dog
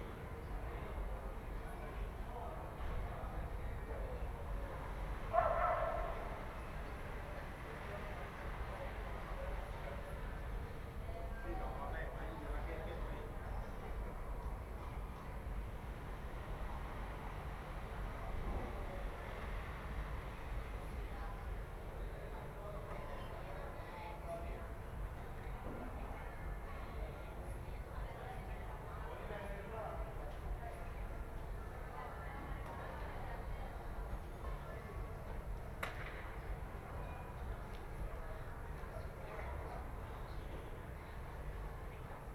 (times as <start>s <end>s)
5.4s 6.2s